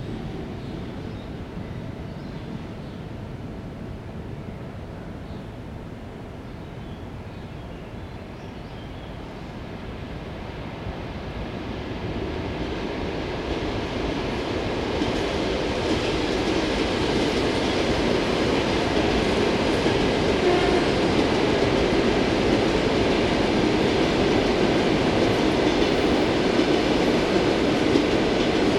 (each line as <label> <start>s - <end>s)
Two suburban electric trains are moving in opposite directions 0.0s - 28.7s